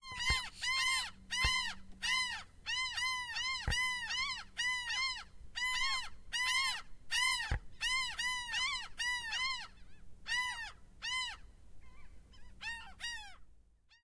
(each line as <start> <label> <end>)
0.0 seagulls 14.0